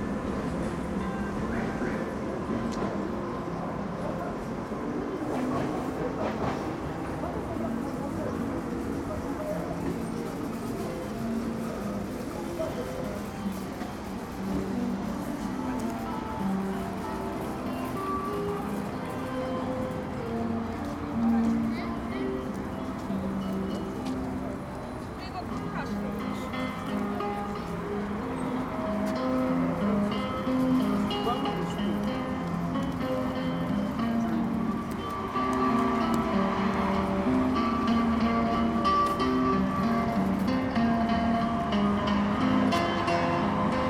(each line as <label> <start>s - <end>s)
crowd 0.0s - 43.8s
streetcars 0.0s - 43.8s
traffic 0.0s - 43.8s
guitar through cheap amplifier 9.5s - 43.8s